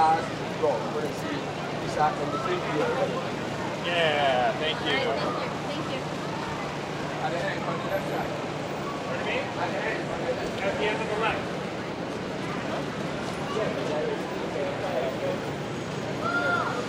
Crowd 0.0 - 16.8

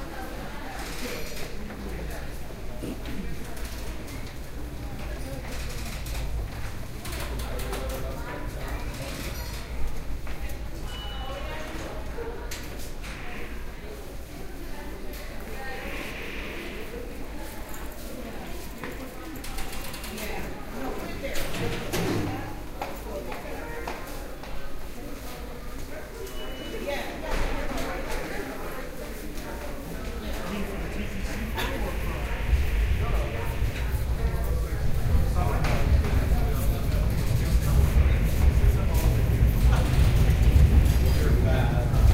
Small crowd noise 0.0 - 42.1

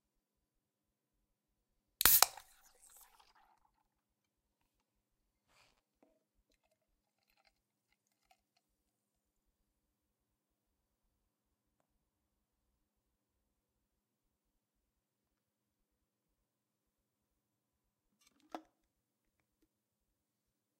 Can Pop 2.0 - 3.4
pour 2.0 - 4.2
pour 6.4 - 9.2

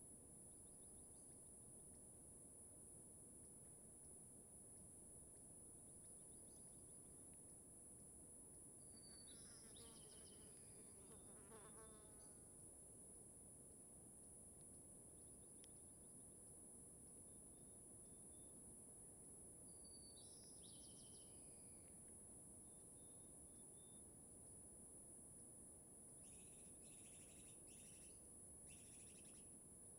Cicadas 26.2 - 29.9

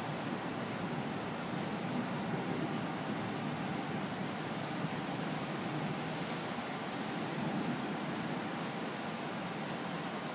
rain 0.0 - 10.3

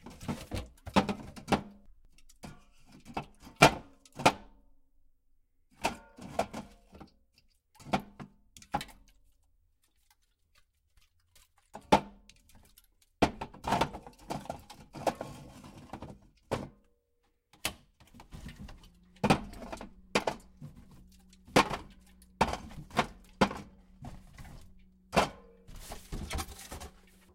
soda cans in fridge 0.0 - 4.5
soda cans in fridge 11.0 - 16.8
soda cans in fridge 17.6 - 27.3

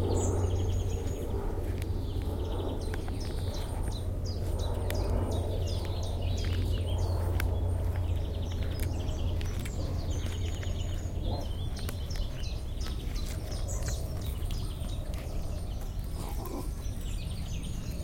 airplane passes 0.0 - 18.0
birds keep singing 0.0 - 18.0
traffic 0.0 - 18.0

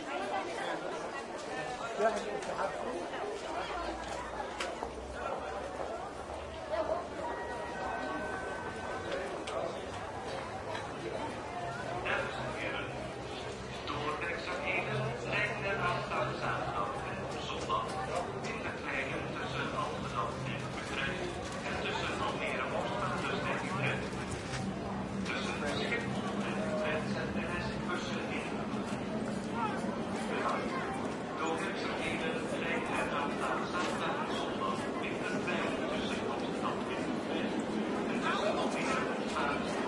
crowd 0.0 - 39.8
train 0.0 - 39.8

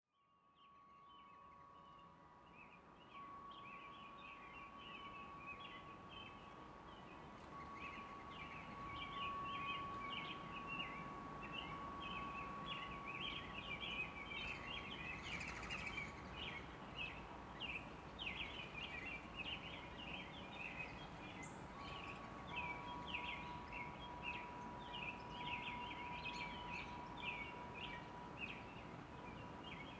distant airplanes 4.9 - 29.9
windchimes ringing in a breeze 5.3 - 29.9

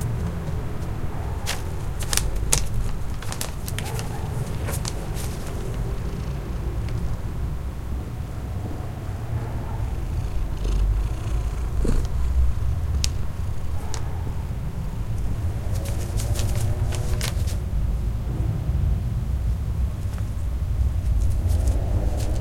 my cat comes and purrs 9.3 - 14.5

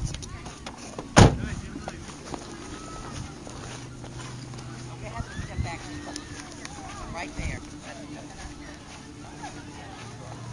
wind noise 0.0 - 0.4
car door noises 0.0 - 1.9
kids running, laughing, and yelling 0.0 - 10.5
me breathing or walking 0.0 - 10.5
wind noise 5.0 - 7.7

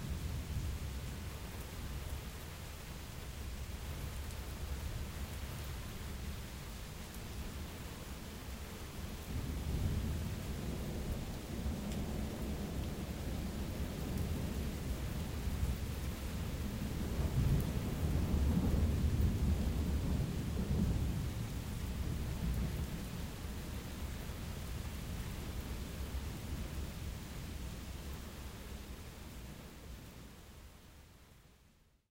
rain 0.0 - 32.1

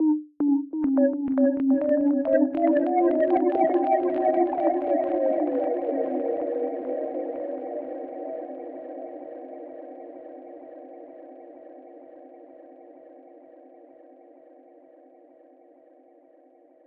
Synthesizer 0.0 - 13.7

